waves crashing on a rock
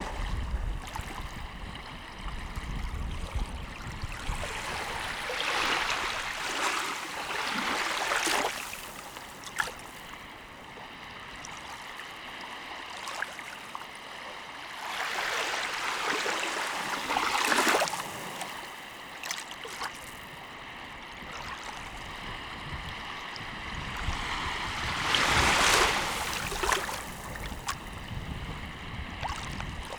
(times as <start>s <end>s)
24.0s 28.7s